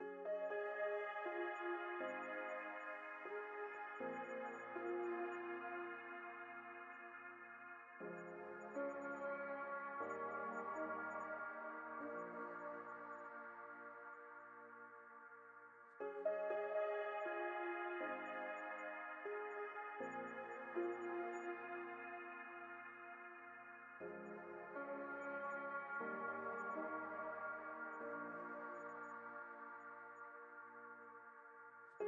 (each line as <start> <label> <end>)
0.0 Plaintive piano loop 32.0